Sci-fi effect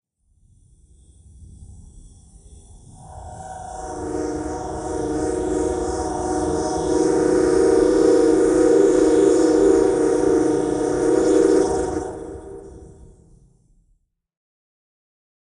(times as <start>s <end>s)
3.0s 13.4s